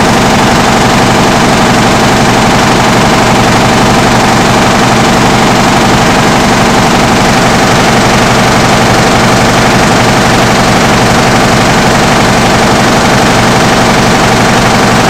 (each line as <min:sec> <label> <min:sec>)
0:00.0 printing machine delivery 0:15.0